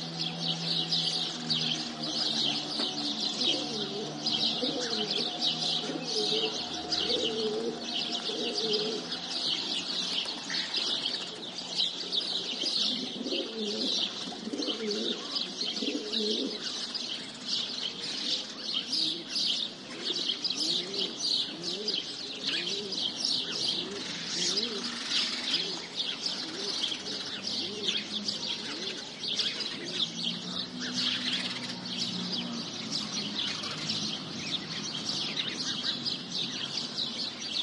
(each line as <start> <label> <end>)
0.0 car passing 15.2
0.0 House sparrow 37.6
0.0 birds chirping 37.6
0.0 pigeons 37.6
26.4 car passing 37.4